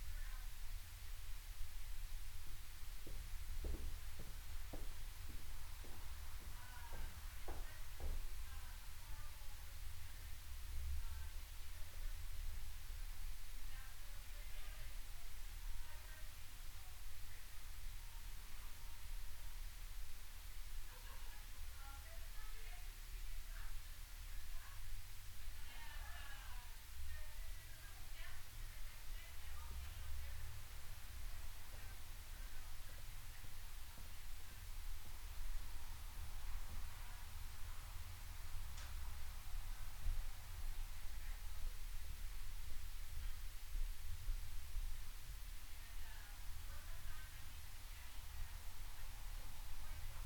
Footsteps 3.0 - 8.3

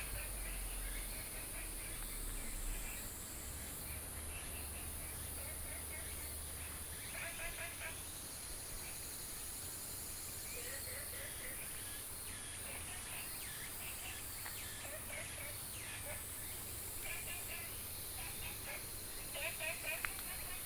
Frogs sound 0.0 - 20.6

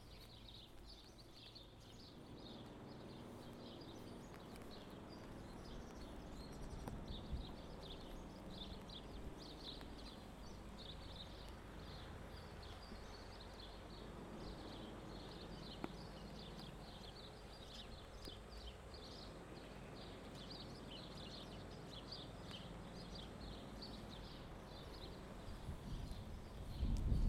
birds 0.0 - 27.2

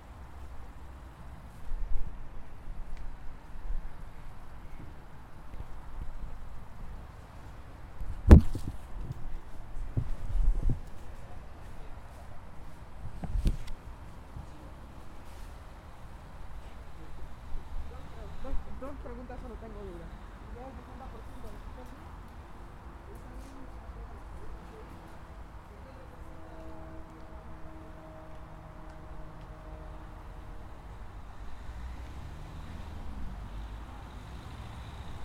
traffic 0.0 - 35.2
voices of people talking 16.6 - 27.4

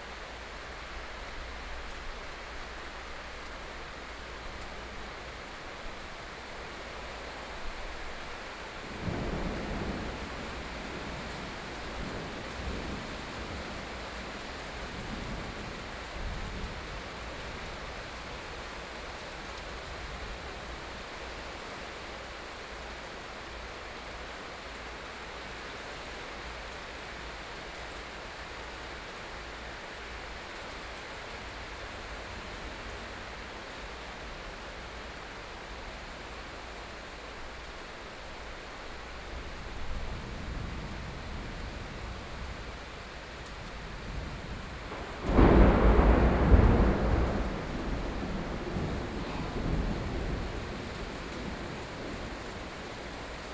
Upcoming thunderstorm 6.0 - 18.6
Upcoming thunderstorm 38.8 - 53.5

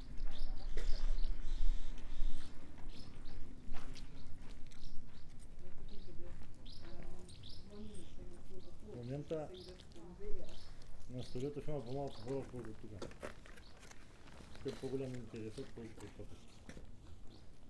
swallows are singing 0.0 - 12.9
swallows are singing 17.2 - 17.6

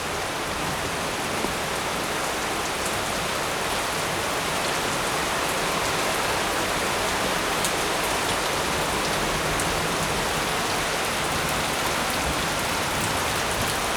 Heavy thundery showers 8.3 - 13.9

